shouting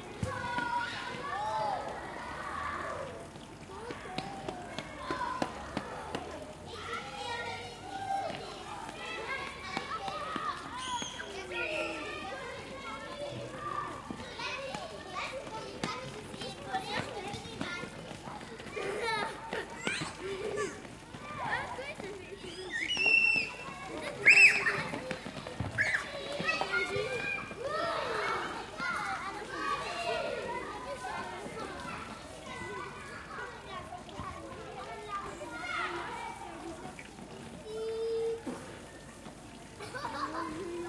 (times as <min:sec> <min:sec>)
0:22.7 0:25.0